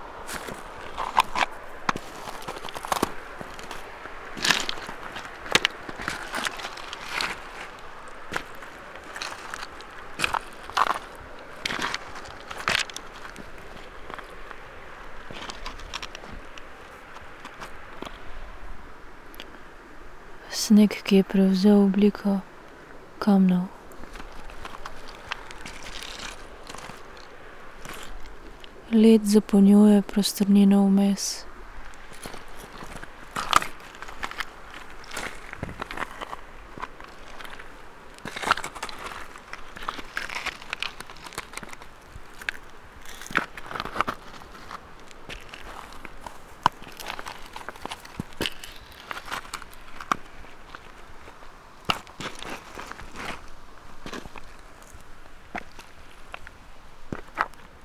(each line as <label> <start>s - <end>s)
river 0.0s - 57.8s
spoken words 20.4s - 22.4s
spoken words 23.2s - 23.8s
spoken words 28.9s - 31.4s